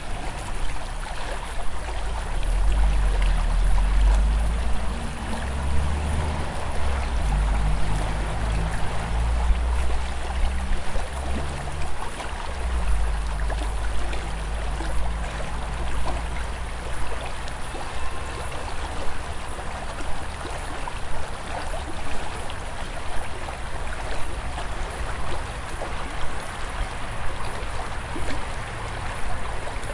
water 0.0 - 29.9
crickets 0.0 - 29.9
car passes 2.4 - 22.5

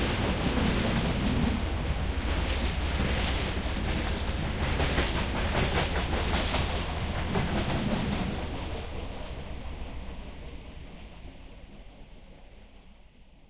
Freight train passing by 0.0 - 13.4

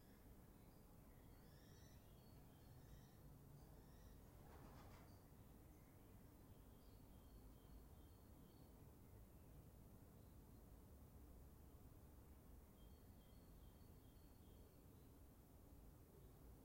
wind 0.0 - 16.6
pigeons 4.1 - 5.2
wings 4.4 - 5.2

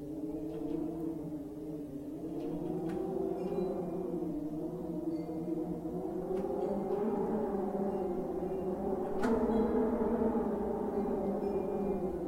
wind 0.0 - 12.2
wind chimes 2.2 - 10.0
wind chimes 10.7 - 12.2

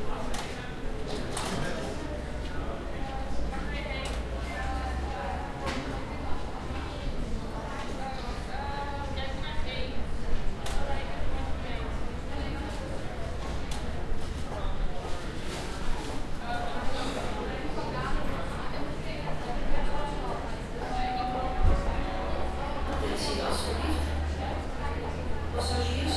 announcement 20.8 - 24.5

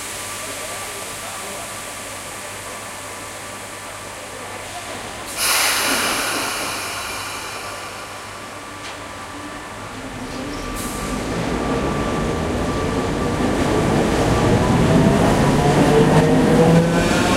metro coming and going 4.3 - 17.3

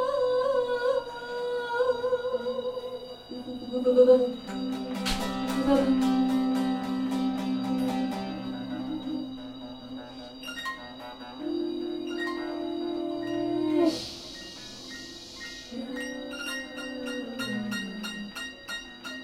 humming of female vocalists 0.0 - 10.6
baglama 3.4 - 19.2
humming of female vocalists 11.2 - 18.8

